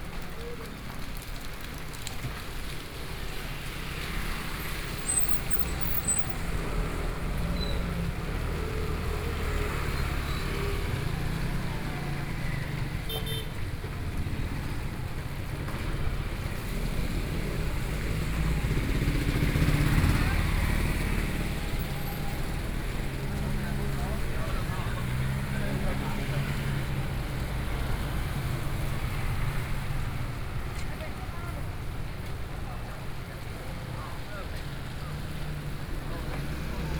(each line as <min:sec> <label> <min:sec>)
0:00.0 Market selling fruits and vegetables 0:36.9
0:00.0 Rainy Day 0:36.9
0:00.0 Traffic Sound 0:36.9
0:00.0 walking in the Street 0:36.9